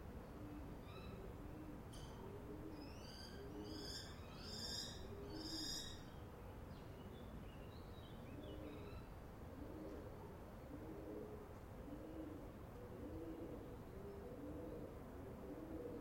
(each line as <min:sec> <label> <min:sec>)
0:00.0 wind 0:16.0
0:00.3 pigeons 0:04.1
0:08.2 pigeons 0:16.0